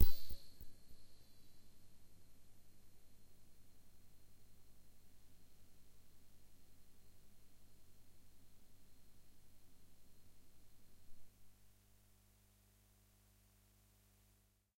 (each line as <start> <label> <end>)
0.0 soft pad 1.4